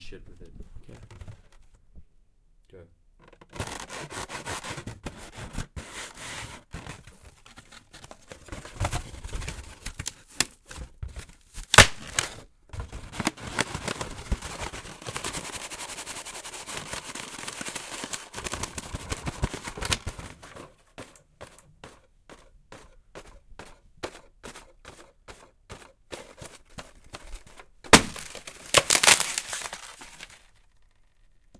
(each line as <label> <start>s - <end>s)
polystyrene being played around with 13.1s - 20.2s
polystyrene being played around with 24.1s - 30.7s